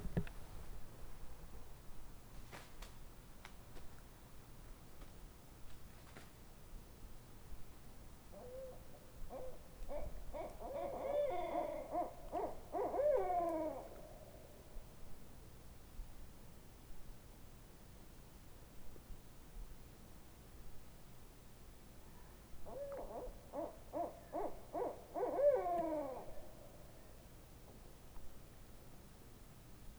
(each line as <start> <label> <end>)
8.3 two owls 15.1
22.4 two owls 27.8